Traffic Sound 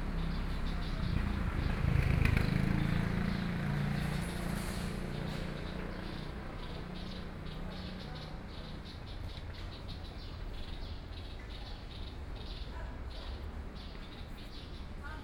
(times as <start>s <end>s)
0.0s 9.8s